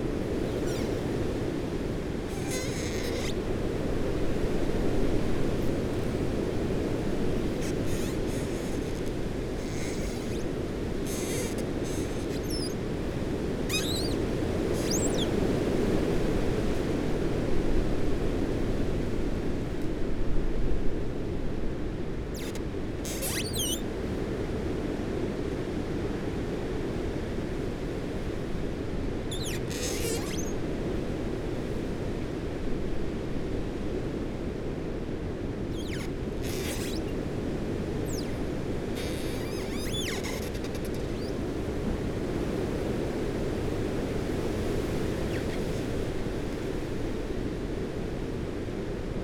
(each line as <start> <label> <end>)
0.2 Branches rubbing and creaking in a gale 16.9
22.3 Branches rubbing and creaking in a gale 23.8
29.3 Branches rubbing and creaking in a gale 30.6
35.6 Branches rubbing and creaking in a gale 42.1
44.1 Branches rubbing and creaking in a gale 47.1